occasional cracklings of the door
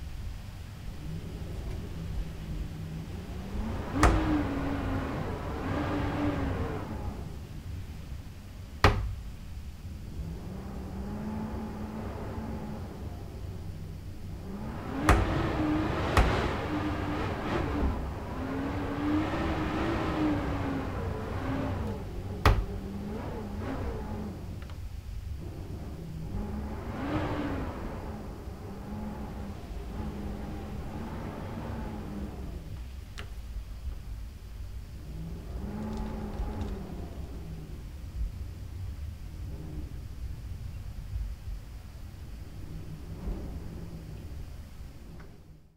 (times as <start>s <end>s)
14.3s 18.1s, 21.3s 23.1s, 35.5s 37.3s